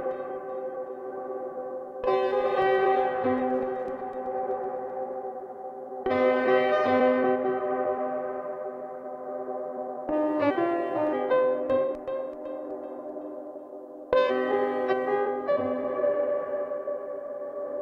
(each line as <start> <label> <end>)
0.0 Piano Loop 17.8